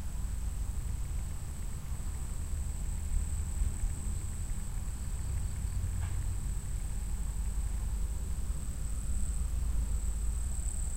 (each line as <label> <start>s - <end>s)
crickets 0.0s - 10.9s